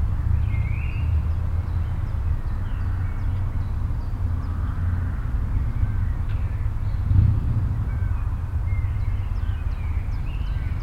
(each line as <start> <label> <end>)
0.0 birds 10.8
0.0 cars 10.8
0.0 motorcycle 10.8